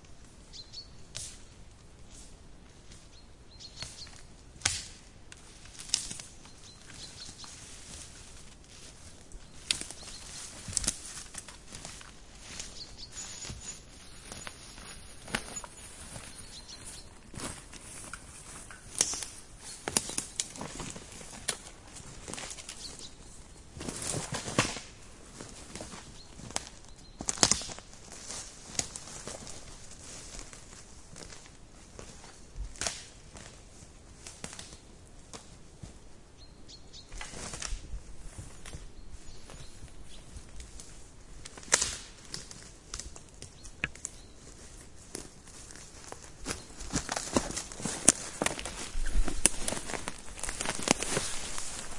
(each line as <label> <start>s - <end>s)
birds 0.5s - 1.6s
birds 3.0s - 4.4s
walk 5.6s - 23.2s
birds 6.1s - 8.1s
birds 9.3s - 24.6s
birds 25.4s - 28.0s
birds 36.3s - 37.6s
birds 38.4s - 41.0s
walk 42.2s - 51.9s
birds 43.3s - 44.9s
birds 45.8s - 51.9s